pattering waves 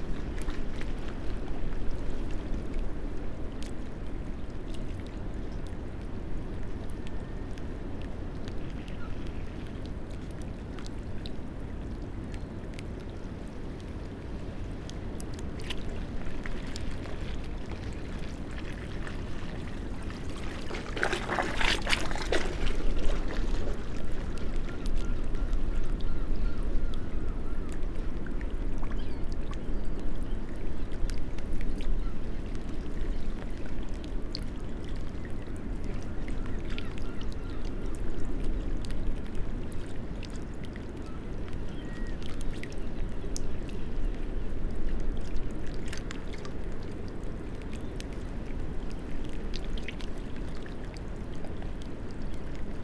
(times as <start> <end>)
14.7 26.6